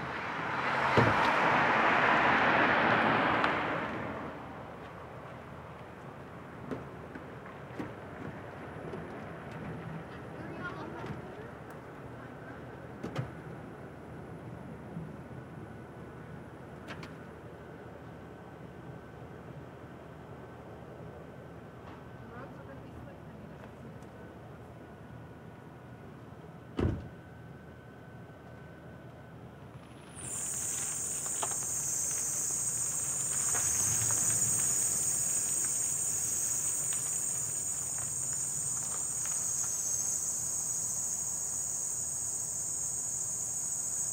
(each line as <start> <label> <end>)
0.0 slow cars and pickups pass 44.1